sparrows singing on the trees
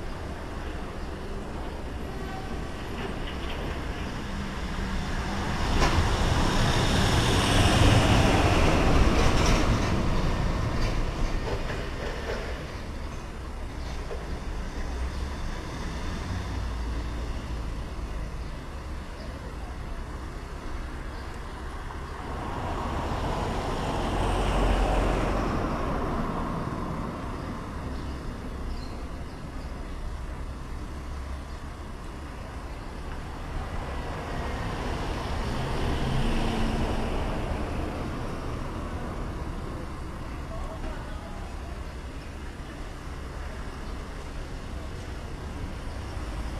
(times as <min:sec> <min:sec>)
0:12.6 0:36.8, 0:38.9 0:46.5